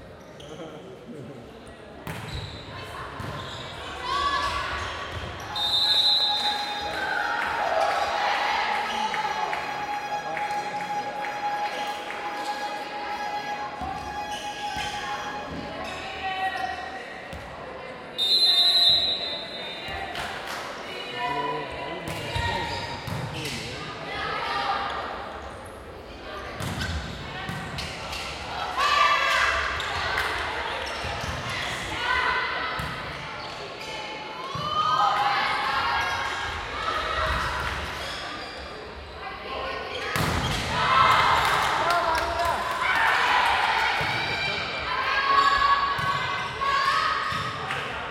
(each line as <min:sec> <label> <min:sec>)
0:00.0 crowd 0:48.1
0:00.0 Volleyball game 0:48.1